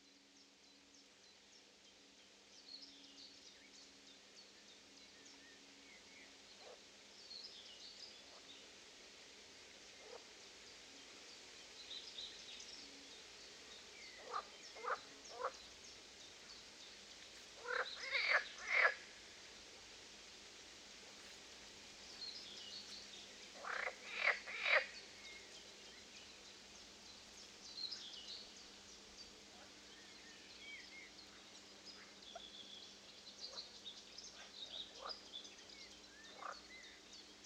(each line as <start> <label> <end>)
0.0 wind 37.4
6.6 frogs 6.9
9.8 birds 19.2
10.0 frogs 10.2
14.2 frogs 15.6
17.6 frogs 19.1
21.1 birds 37.4
23.5 frogs 25.0
34.3 frogs 35.1
36.3 frogs 36.7